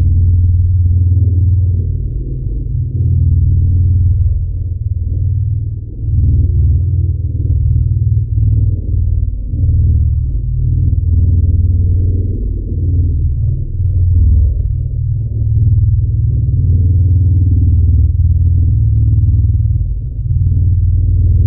engine 0.0 - 21.4

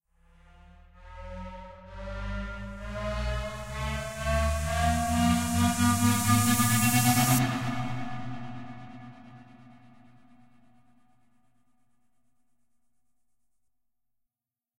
gated riser 2.4 - 10.0

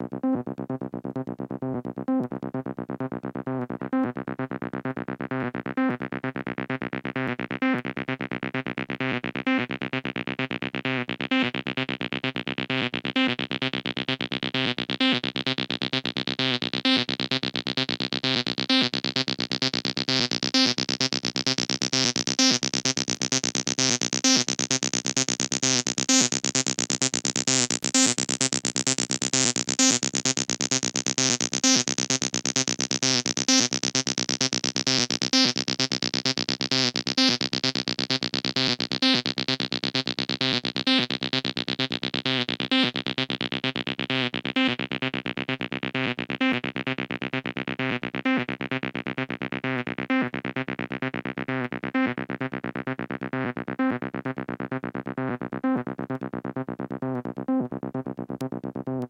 bassline 0.0 - 59.0

